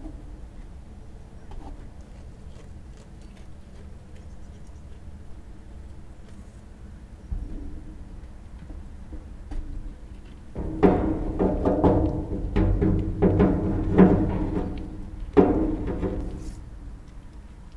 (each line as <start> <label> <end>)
10.5 sheep (rams) horns' clanging on their feeding trough 16.7
10.6 eating hay out of their trough 16.7